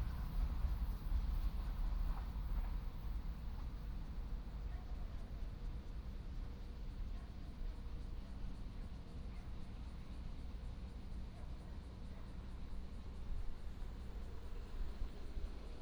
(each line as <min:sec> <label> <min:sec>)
0:00.0 train runs through 0:06.2